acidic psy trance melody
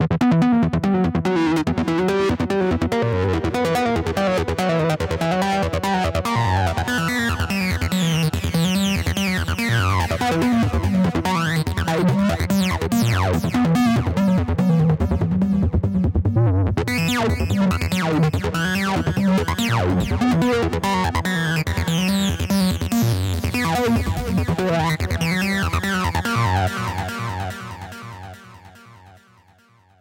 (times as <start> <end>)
16.9 29.3